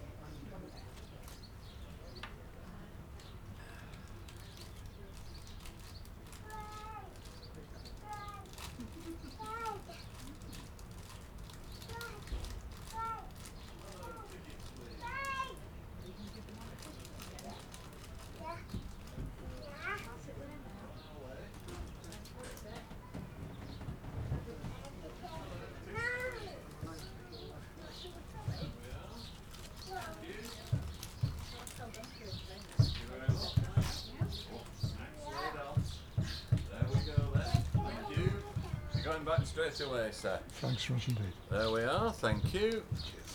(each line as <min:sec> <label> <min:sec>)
0:21.5 Train ride 0:43.3